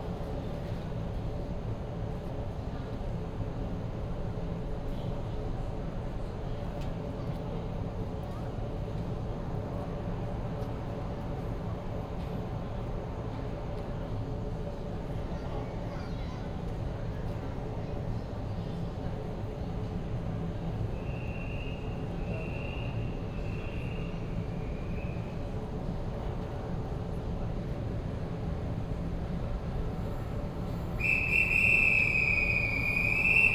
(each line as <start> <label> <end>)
0.0 The train arrives 33.5
20.0 air conditioning noise 33.5